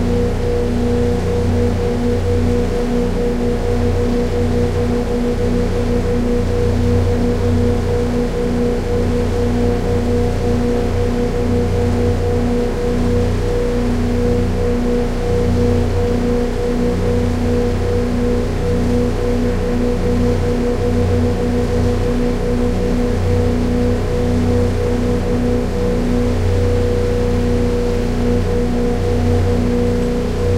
speed boat outboard 0:00.0 - 0:30.5

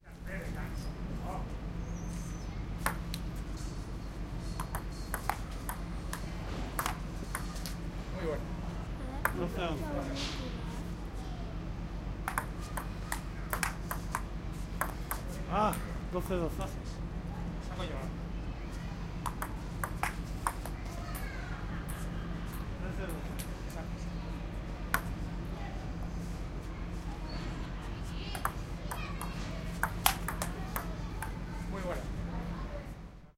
ping-pong 0:02.8 - 0:03.2
ping-pong 0:04.4 - 0:07.7
ping-pong 0:09.2 - 0:09.5
ping-pong 0:12.3 - 0:15.8
ping-pong 0:19.2 - 0:21.2
ping-pong 0:24.9 - 0:25.2
ping-pong 0:28.3 - 0:31.4

